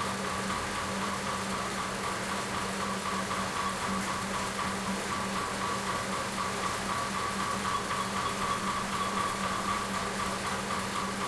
0.0s windmill 11.2s
6.3s elevator going up and down 11.2s

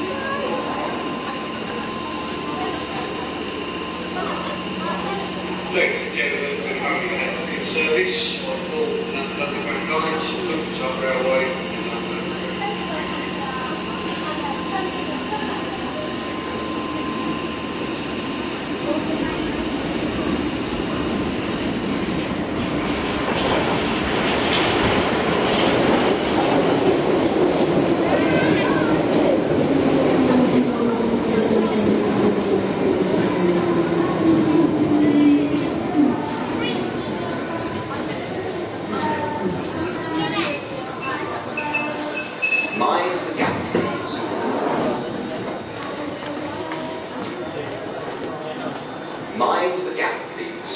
0.0s announcement 18.1s
0.0s people 22.4s
0.0s train arriving and departing 50.7s
23.0s people 50.7s

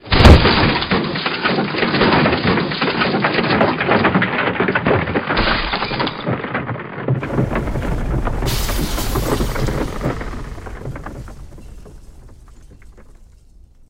0.0s Wooden scaffolding collapse 13.8s

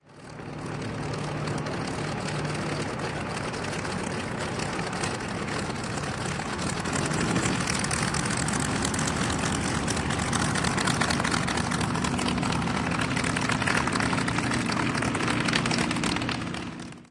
0.0s Fw-190 Taxiing 17.1s

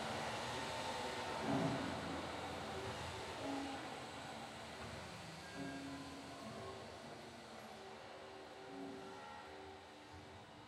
0.0s piano 10.2s

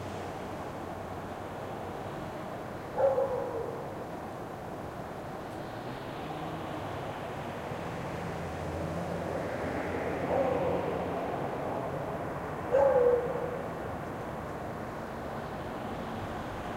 2.8s Beagle barking in a balcony 4.6s
10.1s Beagle barking in a balcony 11.3s
12.6s Beagle barking in a balcony 13.9s

